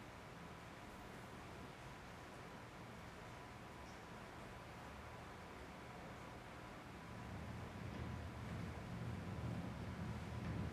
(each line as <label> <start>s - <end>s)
rain 0.0s - 10.7s